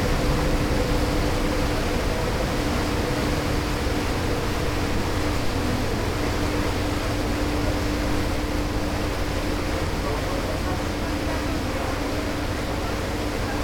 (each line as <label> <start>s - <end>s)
white noise wave sound 0.0s - 13.6s